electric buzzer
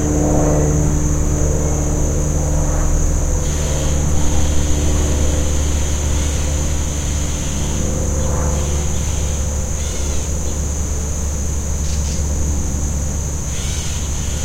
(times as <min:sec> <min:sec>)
0:03.4 0:07.8, 0:08.6 0:10.4, 0:13.5 0:14.4